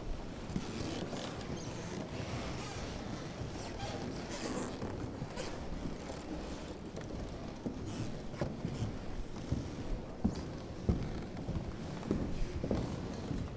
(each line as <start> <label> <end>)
0.0 wooden floor creek 13.5